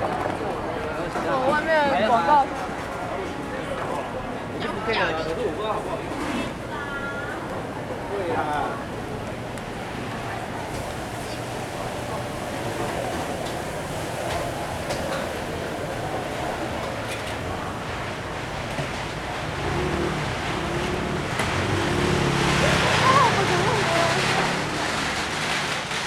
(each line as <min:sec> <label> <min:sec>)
0:00.0 Many vendors 0:26.0